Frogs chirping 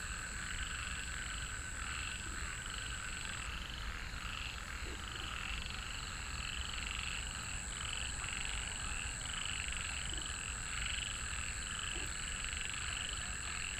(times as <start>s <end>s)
0.0s 8.6s